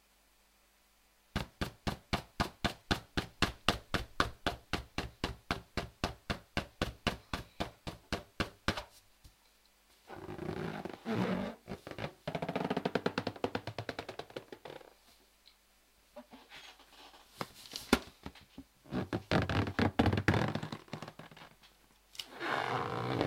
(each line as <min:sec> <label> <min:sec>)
0:10.1 Balloon rubbing 0:14.9
0:18.9 Balloon rubbing 0:21.6
0:22.3 Balloon rubbing 0:23.2